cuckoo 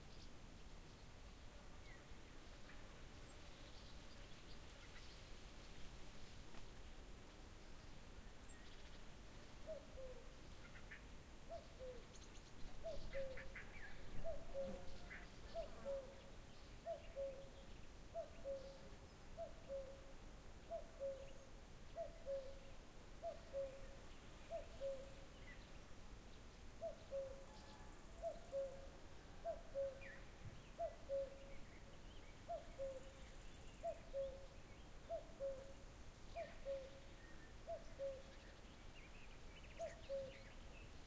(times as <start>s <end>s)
9.6s 20.1s, 20.7s 25.3s, 26.8s 31.7s, 32.4s 38.5s, 39.6s 40.6s